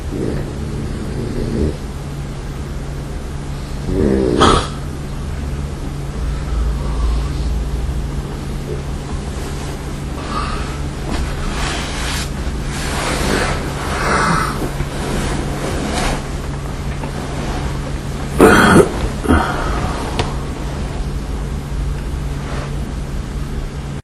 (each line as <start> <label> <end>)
0.0 Moving while I sleep 24.0
6.2 breath 7.7
10.2 breath 10.9